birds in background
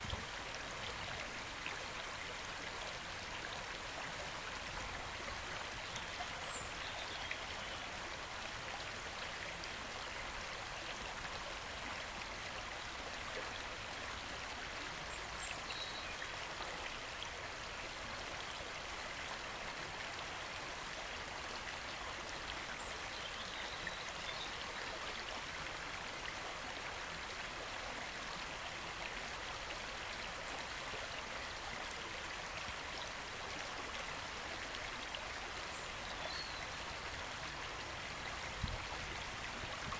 0:05.5 0:08.0, 0:15.0 0:16.3, 0:22.4 0:25.2, 0:35.6 0:37.0

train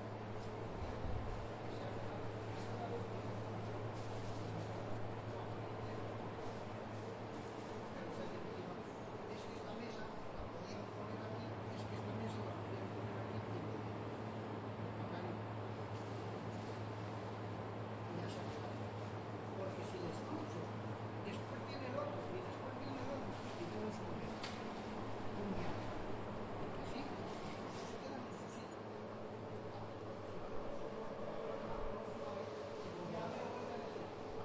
0:25.8 0:34.4

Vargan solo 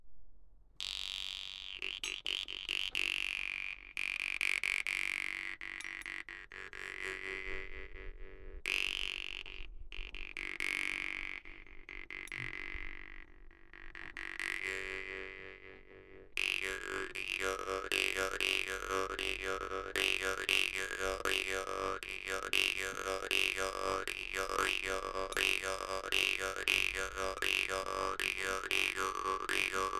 0:14.2 0:29.9

